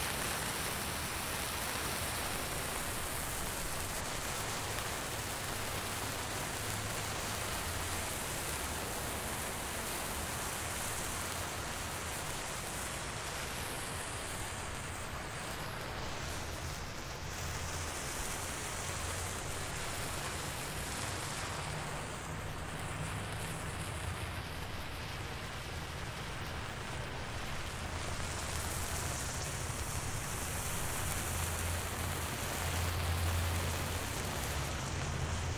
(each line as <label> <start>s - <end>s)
Road Flare 0.1s - 35.5s